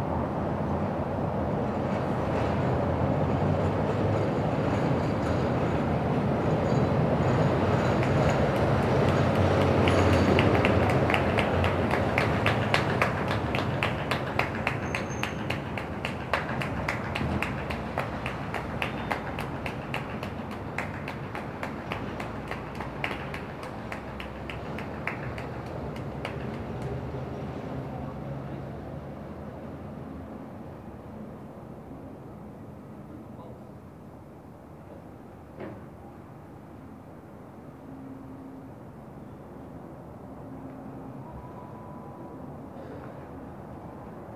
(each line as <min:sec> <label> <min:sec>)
0:07.9 Public Clapping 0:27.3